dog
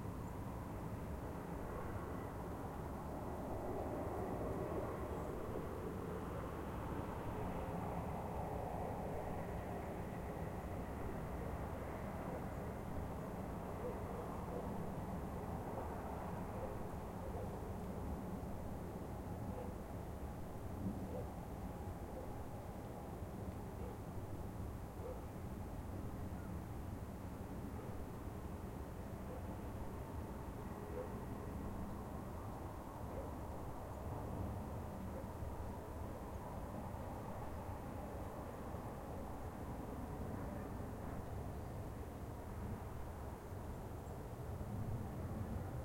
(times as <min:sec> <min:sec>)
0:16.6 0:17.6, 0:19.5 0:19.8, 0:23.8 0:24.0, 0:25.0 0:25.3, 0:29.3 0:29.5, 0:30.9 0:31.2, 0:33.1 0:33.4